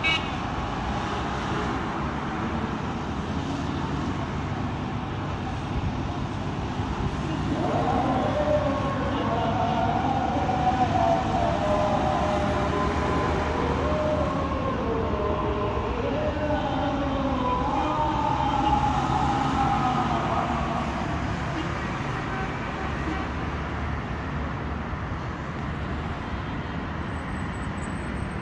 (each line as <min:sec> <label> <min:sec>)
0:00.0 traffic 0:28.4
0:06.8 muezzin is singing 0:23.4